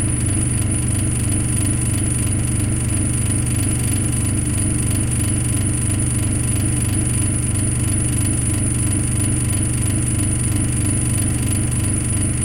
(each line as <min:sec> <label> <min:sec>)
0:00.0 Very old fridge 0:12.4